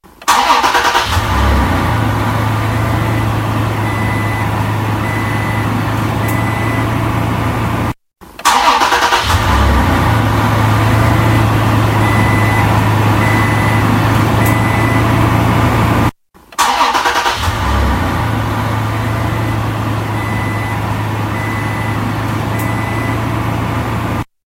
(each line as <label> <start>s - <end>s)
Starting car engine 0.1s - 24.3s
starting truck engine 0.1s - 24.3s